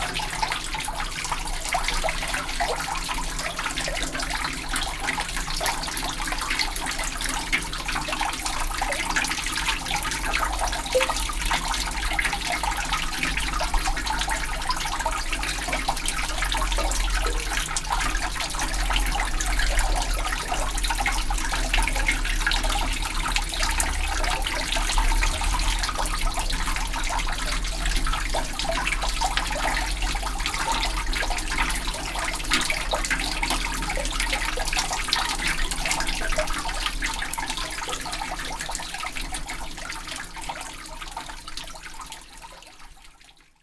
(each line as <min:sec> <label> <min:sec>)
0:00.0 fountain under the church 0:43.6